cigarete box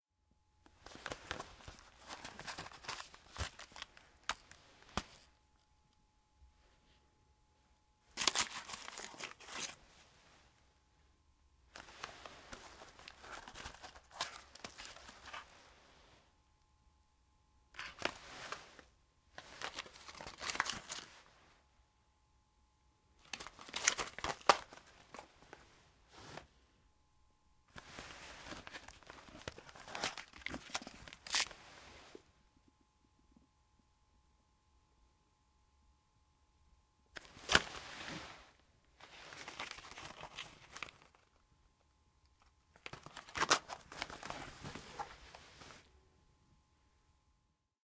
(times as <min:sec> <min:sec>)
0:00.7 0:05.3, 0:08.1 0:09.8, 0:11.7 0:15.5, 0:17.8 0:21.1, 0:23.2 0:25.6, 0:27.7 0:31.6, 0:42.8 0:45.9